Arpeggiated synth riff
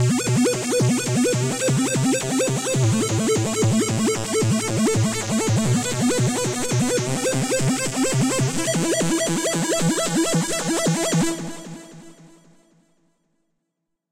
0.0s 9.6s

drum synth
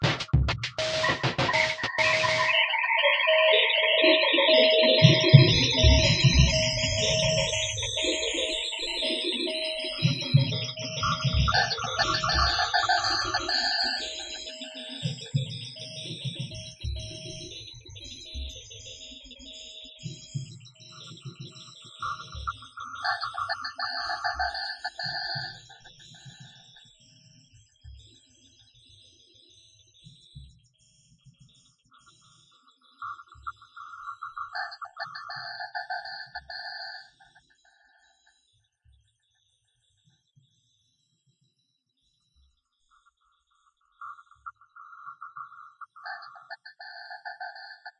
0.0s 2.7s

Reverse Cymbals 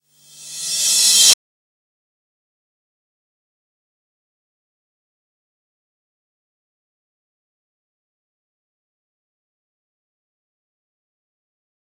0.1s 1.4s

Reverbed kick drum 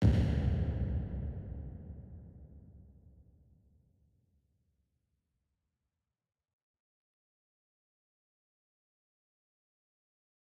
0.0s 2.6s

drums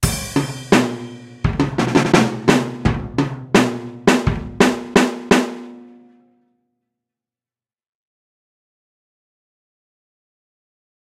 0.0s 6.2s

